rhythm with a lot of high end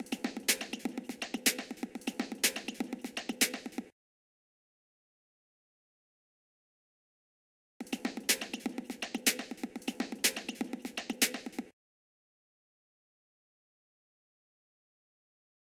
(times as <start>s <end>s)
0.0s 3.9s, 7.8s 11.7s